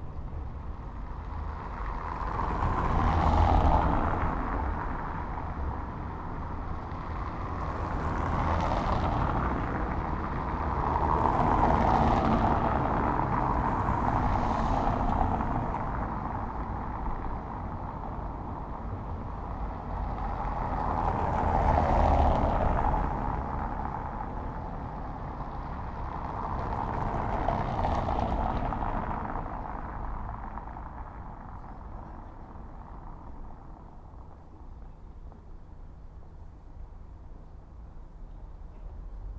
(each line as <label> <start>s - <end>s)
vehicles driving over the cobblestones 0.0s - 39.3s